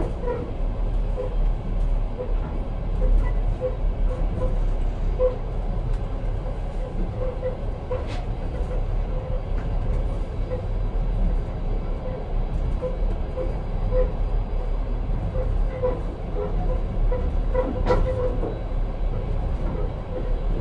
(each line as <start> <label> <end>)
0.0 rumble 20.6